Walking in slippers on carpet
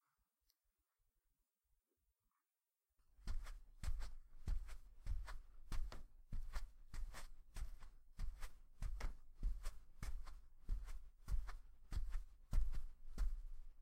3.1 13.8

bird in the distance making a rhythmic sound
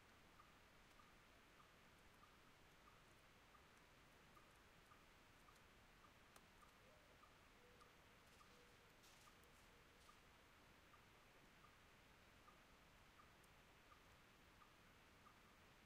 4.3 10.2

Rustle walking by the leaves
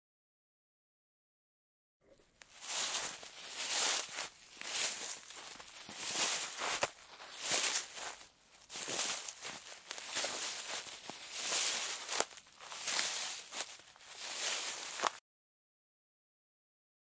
2.4 15.2

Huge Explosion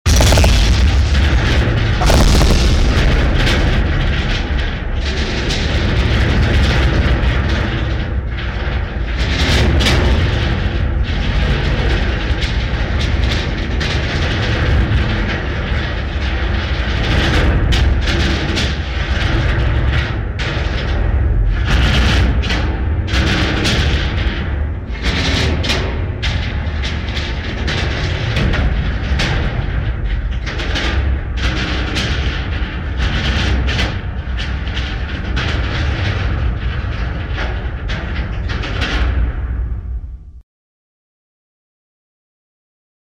0.0 7.4

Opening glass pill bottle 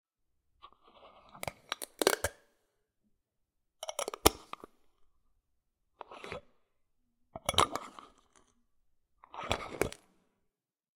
1.2 2.4, 3.8 4.7

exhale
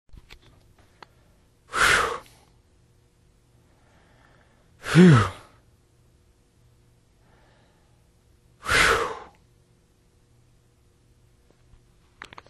1.0 2.6, 3.6 5.7, 7.2 9.4

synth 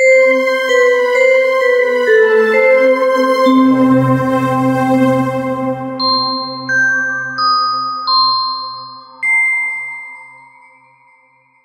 0.0 9.2

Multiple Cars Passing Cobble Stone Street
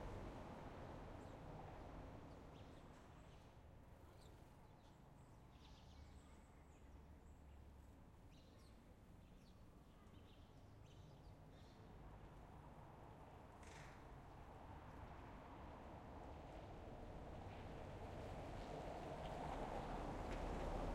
0.0 4.0, 12.0 20.9

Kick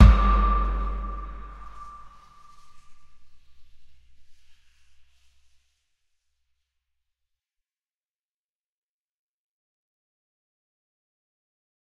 0.0 2.1

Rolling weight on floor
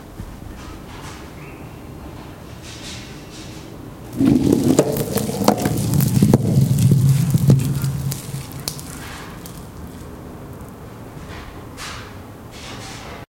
4.1 10.2

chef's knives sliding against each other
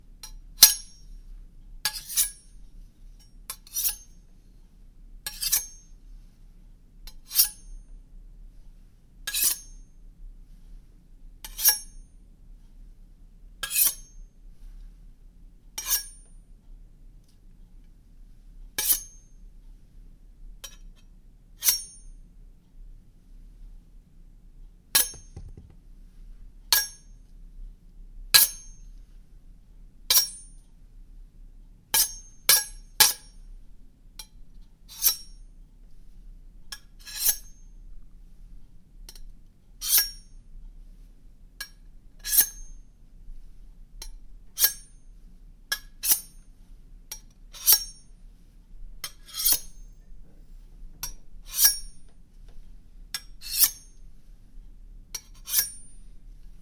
1.9 2.4, 3.6 4.1, 5.3 5.8, 7.2 7.6, 9.3 9.7, 15.8 16.2, 18.8 19.1, 34.9 35.3, 37.0 37.5, 39.8 40.2, 42.2 42.7, 44.6 44.9, 46.0 46.4, 47.5 48.0, 49.0 49.9, 51.4 52.0, 53.2 53.9, 55.2 56.0

